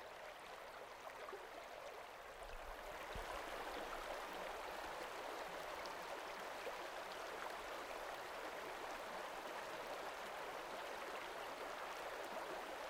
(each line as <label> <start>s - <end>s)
Mountain stream 0.0s - 12.8s